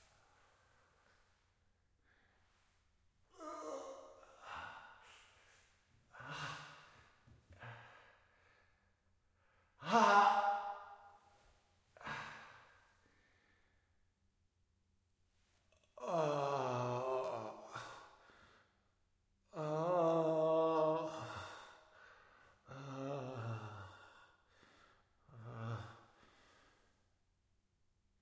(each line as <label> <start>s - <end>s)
Breathing 4.4s - 9.8s
Breathing 12.0s - 13.8s
Breathing 17.7s - 18.8s
Breathing 21.3s - 22.7s
Breathing 23.5s - 27.0s